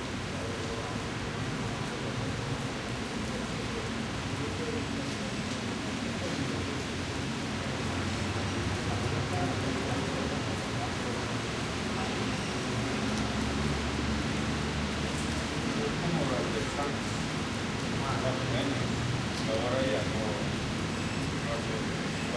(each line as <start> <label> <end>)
0.0 people wait the rain to stop, while they talk 22.3
0.0 rain falling down through the big streets 22.3
1.0 Drops fall hitting the stones of the buildings 11.3